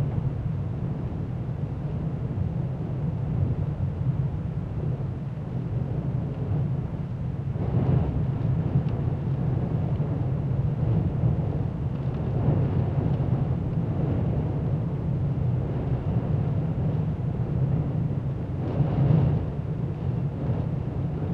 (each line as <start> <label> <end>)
0.0 wind 21.3